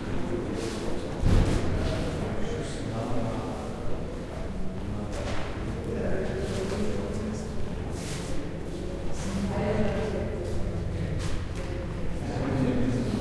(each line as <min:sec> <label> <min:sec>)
0:00.0 people chattering 0:13.2